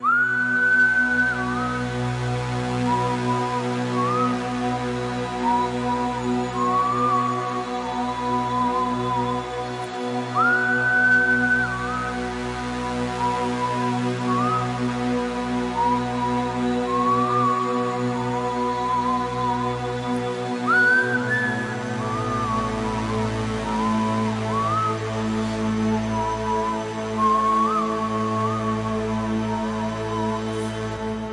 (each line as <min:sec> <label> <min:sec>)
0:00.0 whistling 0:31.3